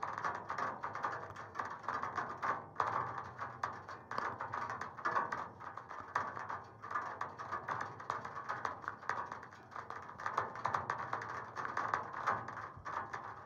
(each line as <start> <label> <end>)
0.0 rain on a single wire 13.4